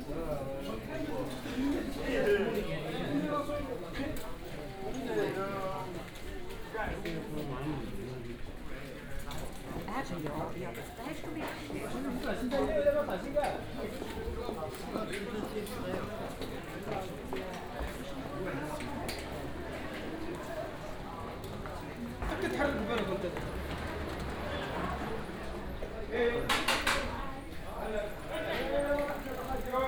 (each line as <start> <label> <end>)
19.4 unexcited street live 26.5